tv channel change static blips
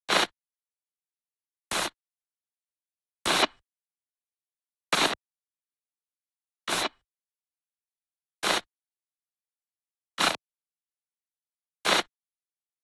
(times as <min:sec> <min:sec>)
0:06.7 0:07.0